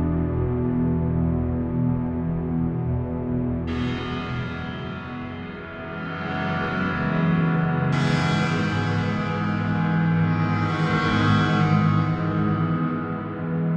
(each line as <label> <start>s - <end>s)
chord progression with keyboard 0.0s - 13.7s